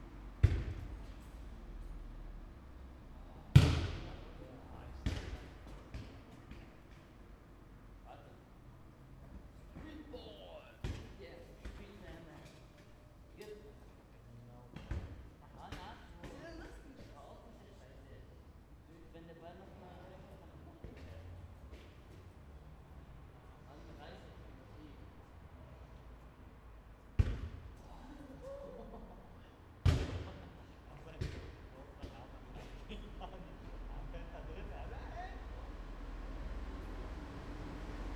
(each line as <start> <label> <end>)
0.4 kicking the ball 0.9
3.5 kicking the ball 4.1
5.0 kicking the ball 6.6
29.8 kicking the ball 30.4
31.2 kicking the ball 32.2